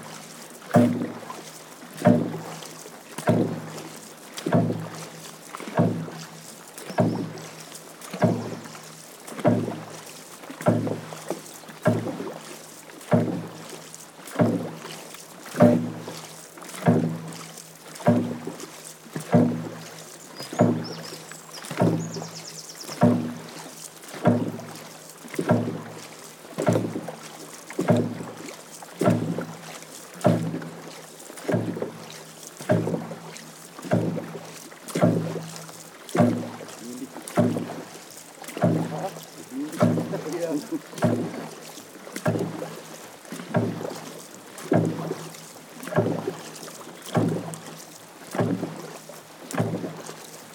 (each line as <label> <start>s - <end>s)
rhythms created by the paddlers 0.0s - 50.5s